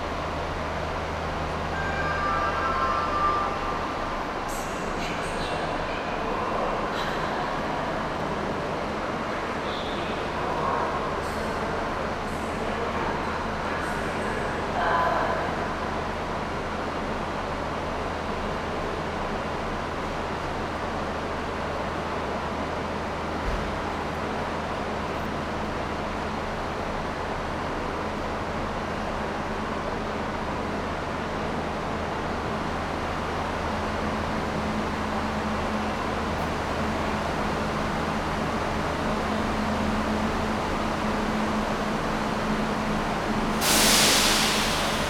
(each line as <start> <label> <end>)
0.0 trains 45.0